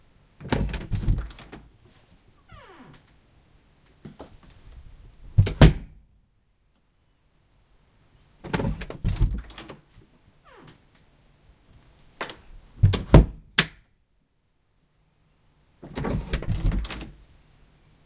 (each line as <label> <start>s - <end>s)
Creak 2.4s - 3.1s
Creak 10.4s - 10.8s